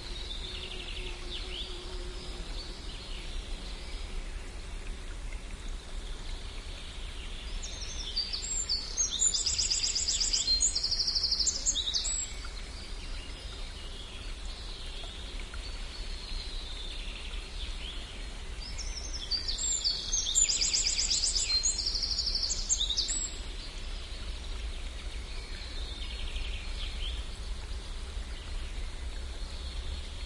0.0s small stream 30.2s

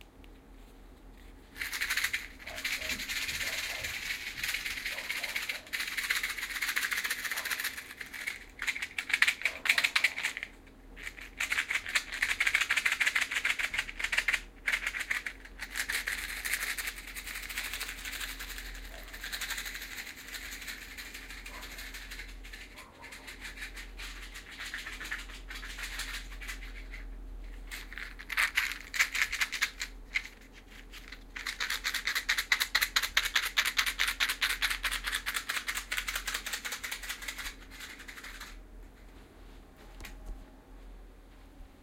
1.5s matchbox shaker 38.6s

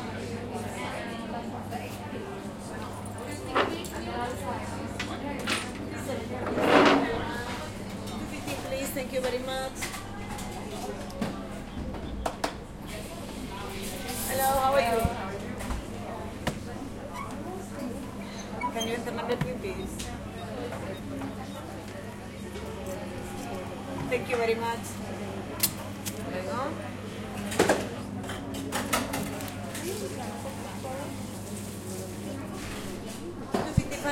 0.0s medium crowd 34.1s
2.2s industrial coffe maker sounds 34.1s

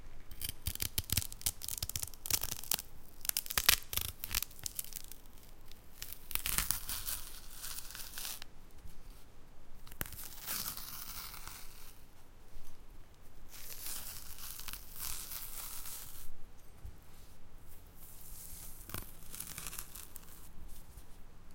0.3s peeling a banana 8.5s
9.9s peeling a banana 12.0s
13.5s peeling a banana 16.2s
18.4s peeling a banana 20.5s

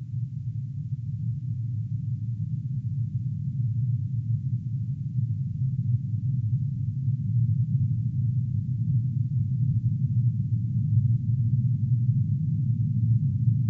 0.1s low frequency drone like sound which builds up slowly 13.6s

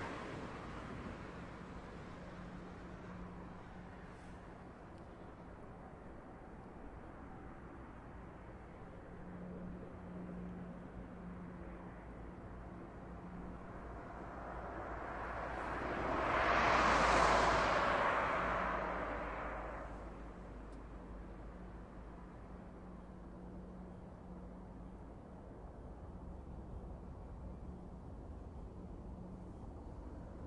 0.0s cars drive slowly on a wet and snowy street 30.4s

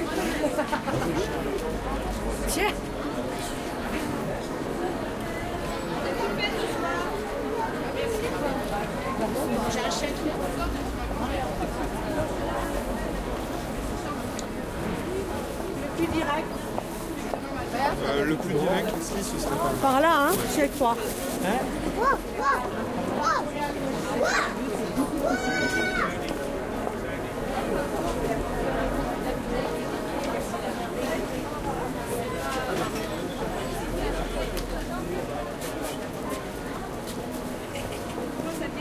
0.0s crowd sounds 38.8s

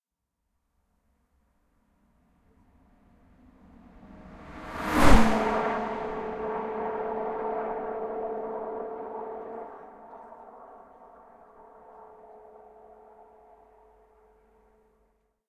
3.3s car passing at high speed 13.8s

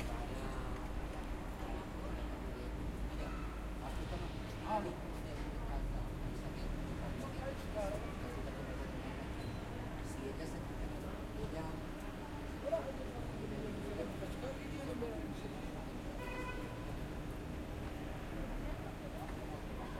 0.0s Train 6.0s
0.0s bus 19.9s
0.0s crowd 19.9s

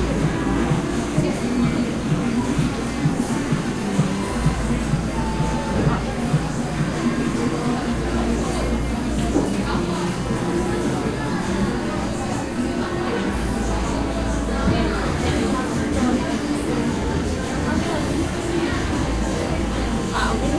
0.0s Music 20.5s

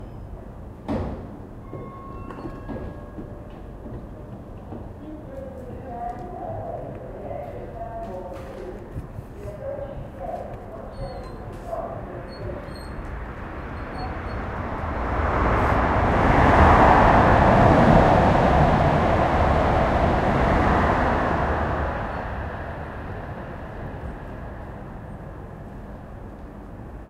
0.0s passing train 27.0s

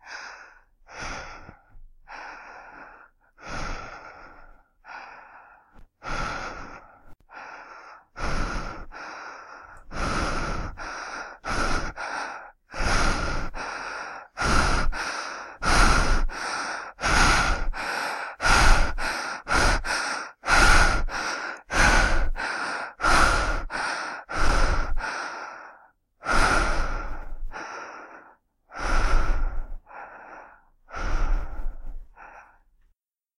0.0s woman breathing deeply 32.7s

